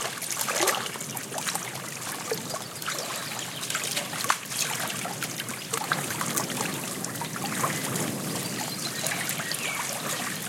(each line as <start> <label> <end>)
0.0 wind 10.4
2.4 birds singing in background 4.2
6.7 birds singing in background 10.4